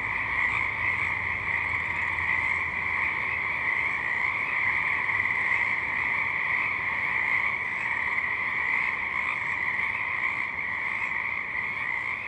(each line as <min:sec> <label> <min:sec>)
0:00.0 nature noises 0:12.2